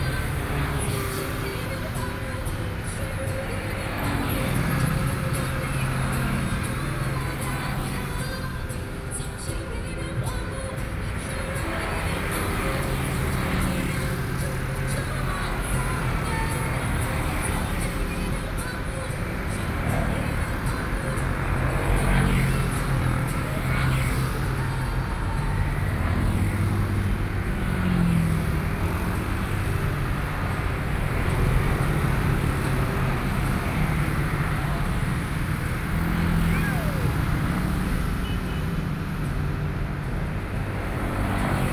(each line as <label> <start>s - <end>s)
music 0.0s - 41.7s
traffic noise 0.0s - 41.7s